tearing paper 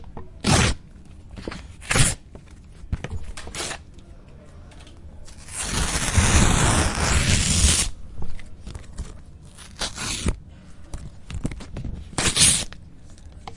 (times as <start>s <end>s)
0.4s 0.8s, 1.8s 2.2s, 5.3s 8.0s, 9.5s 10.4s, 12.1s 12.8s